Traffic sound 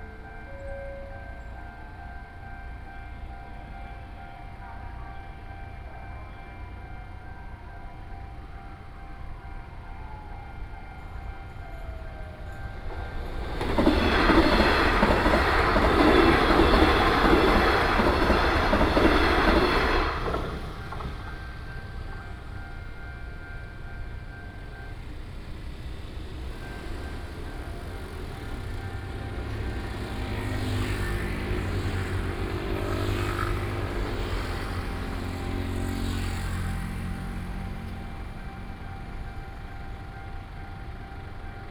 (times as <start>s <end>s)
11.1s 41.5s